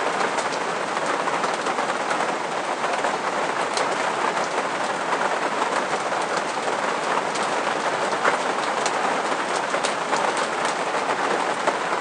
Rain on a caravan roof 0.0 - 12.0

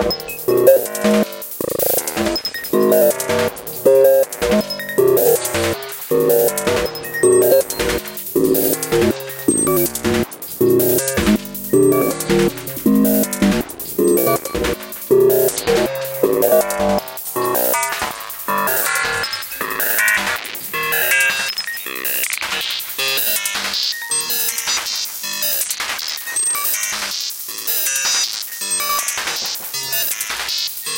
synthesizer 0.0 - 25.6

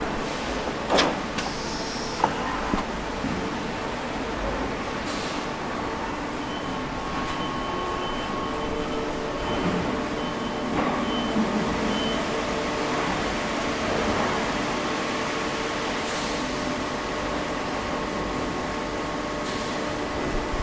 Big machines 0.0 - 20.6

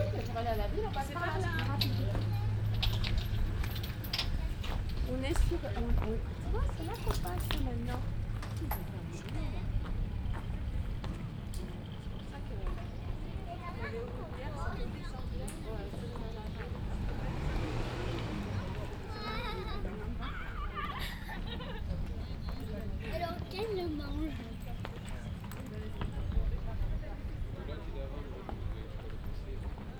walking 0.0 - 27.6
people 0.0 - 29.9

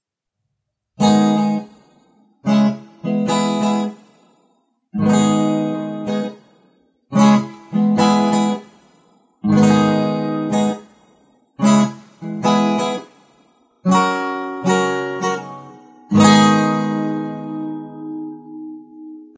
little four chord riff 1.0 - 1.8
little four chord riff 5.0 - 6.4
little four chord riff 7.1 - 8.7
little four chord riff 9.4 - 10.9
little four chord riff 13.9 - 19.3

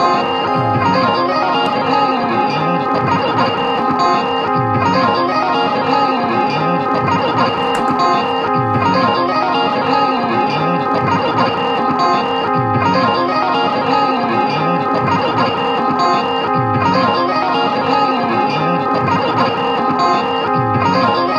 guitar 0.0 - 21.3

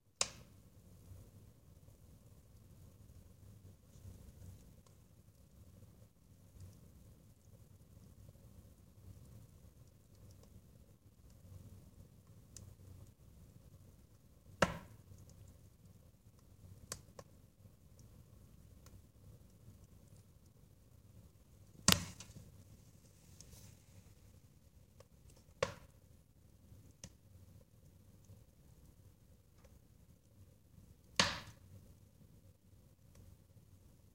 crackling 2.0 - 26.0

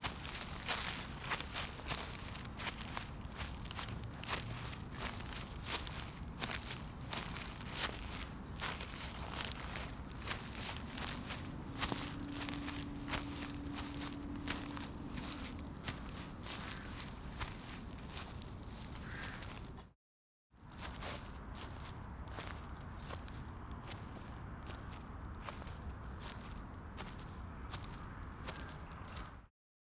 Wind 0.0 - 19.9
Footsteps 0.0 - 18.8
Leaves 0.0 - 19.7
Wind 20.6 - 29.5

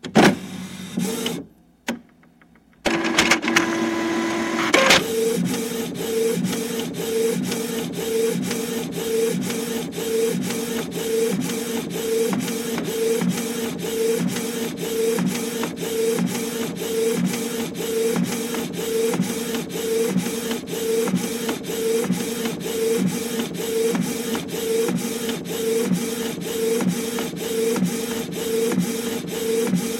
printer 0.0 - 1.5
printer 2.8 - 29.9

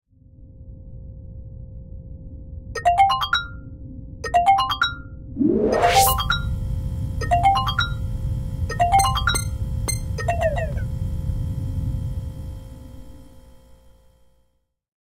alarm in the spaceship's sleep pod 2.8 - 14.3

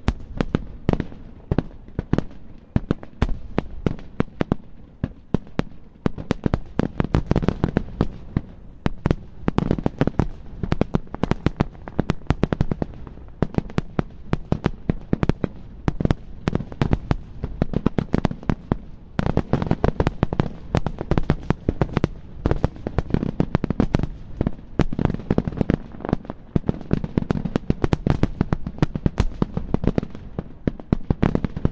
Fireworks 0.0 - 31.7

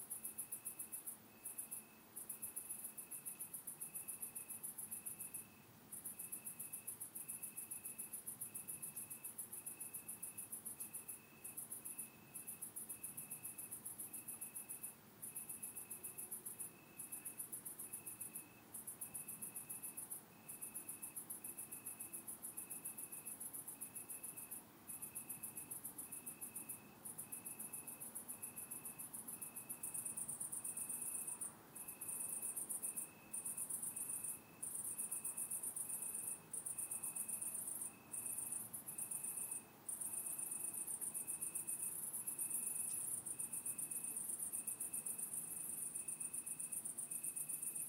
Cicada 0.0 - 47.8
Crickets 0.0 - 47.8

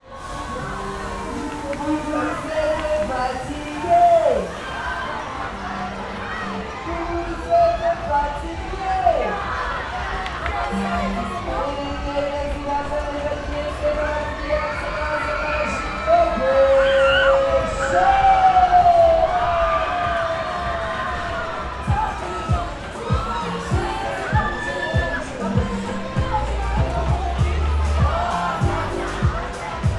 music 0.0 - 29.9
machines 0.0 - 6.3
Teen-agers enjoying a fairground ride 0.0 - 29.9

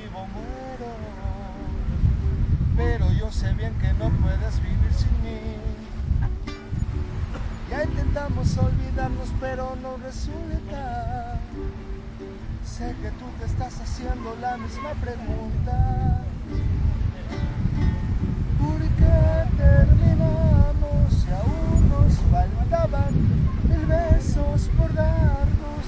guitar 0.0 - 25.8
man sings traditional song 0.0 - 25.8

